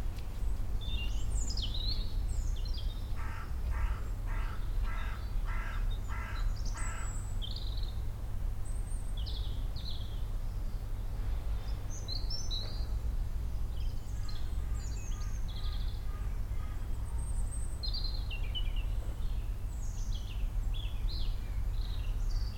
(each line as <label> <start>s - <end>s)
many other birds 0.0s - 22.5s
traffic 0.0s - 22.5s
Crows 3.2s - 7.2s
Crows 14.2s - 16.9s